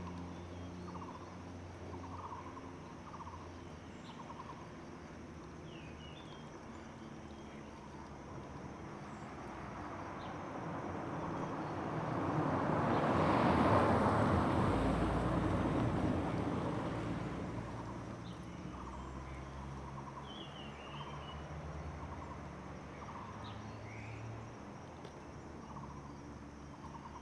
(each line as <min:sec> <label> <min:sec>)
0:09.0 Traffic Sound 0:27.2